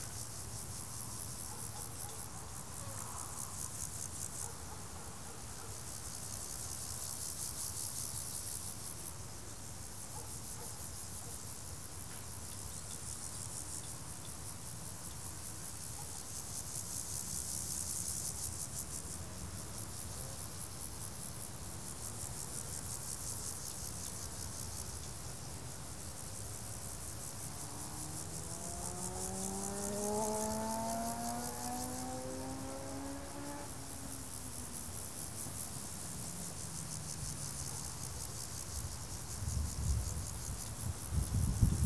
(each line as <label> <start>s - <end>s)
cricket chirping everywhere 0.0s - 41.8s
traffic noise from a nearby street 13.5s - 41.8s
small plane flying over the meadow 26.8s - 36.9s